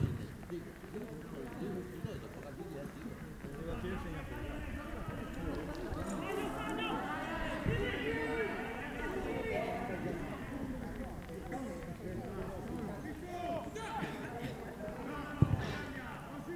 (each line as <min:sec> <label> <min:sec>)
0:00.0 football match 0:16.5